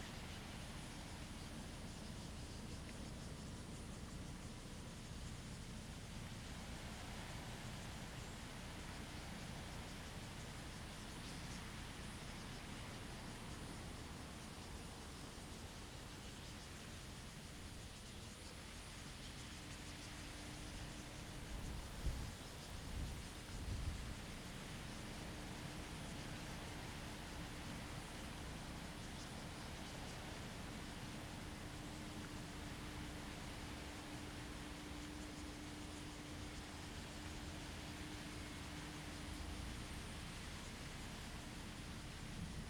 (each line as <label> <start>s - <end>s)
wind and leaves 0.0s - 42.6s